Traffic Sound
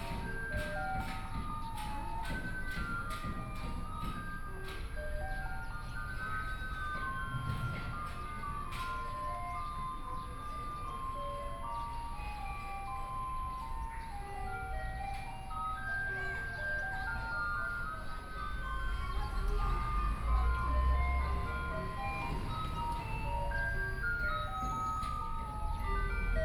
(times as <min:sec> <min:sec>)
0:15.8 0:26.4